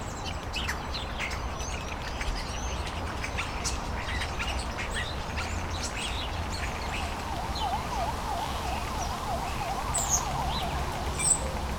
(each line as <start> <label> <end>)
7.3 ambulance alarms 11.4